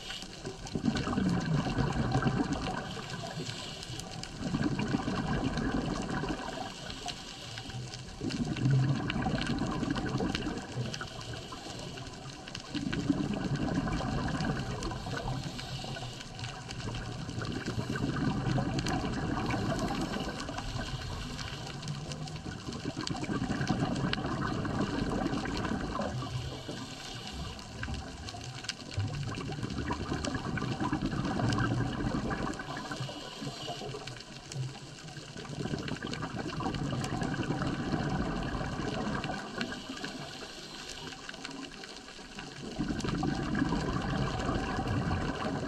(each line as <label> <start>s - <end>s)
breathing 0.0s - 0.6s
Scuba bubbles 0.0s - 45.6s
breathing 2.8s - 4.4s
breathing 6.4s - 8.2s
breathing 11.0s - 12.3s
breathing 14.8s - 22.2s
breathing 26.0s - 28.0s
breathing 32.8s - 34.4s
breathing 39.6s - 41.5s